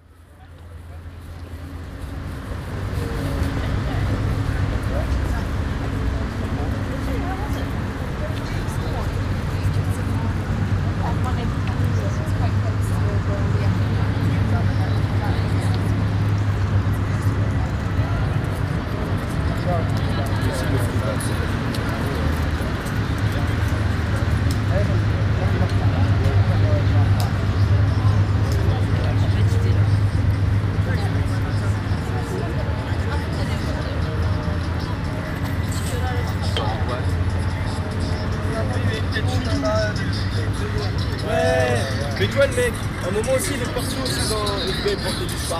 People laughing, eating and drinking 36.1 - 45.5

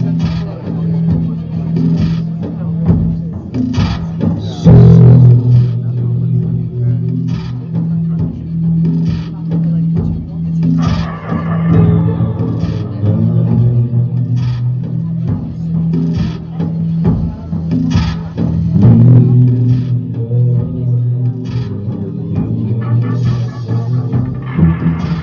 one song of their mood driving music 0.0 - 25.2

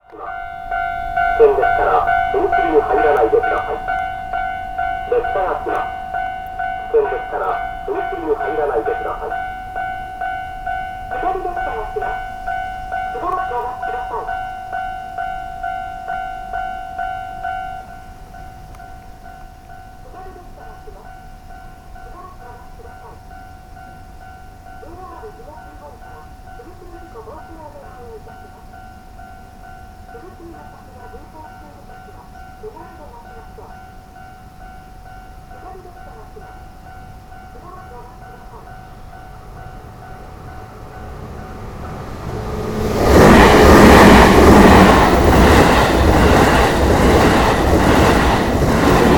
signals that announce the train arrival 0.0 - 49.1
train passing 0.0 - 49.1
cars driving again 39.8 - 49.1

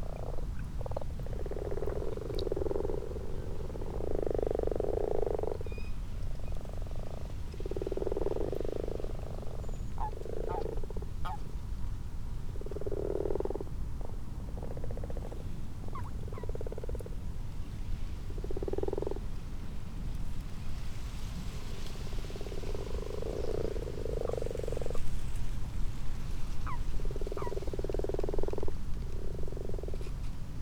common toads 0.0 - 11.7
common frogs 0.0 - 17.4
common toads 12.4 - 17.3
common frogs 18.1 - 19.4
common toads 18.2 - 19.3
common toads 21.7 - 30.3
common frogs 21.7 - 30.3

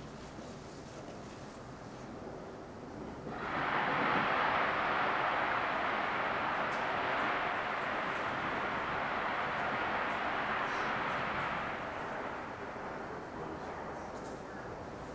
Fireworks 3.3 - 14.3

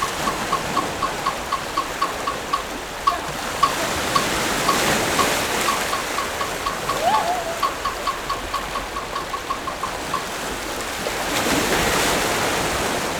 waves 0.0 - 13.1

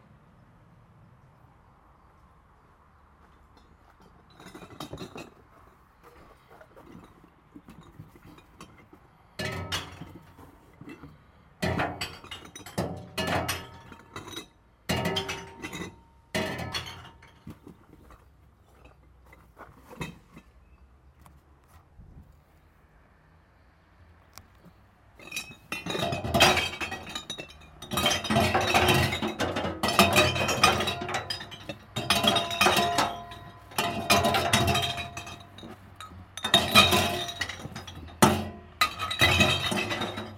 glass recycling container 25.2 - 40.3

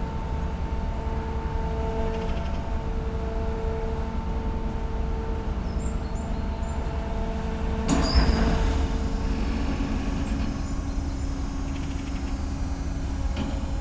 sluice door opening 7.8 - 13.8

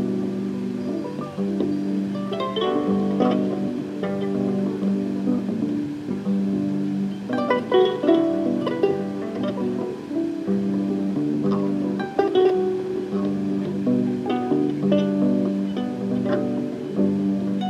play a modified electracoustic kora 0.0 - 17.6

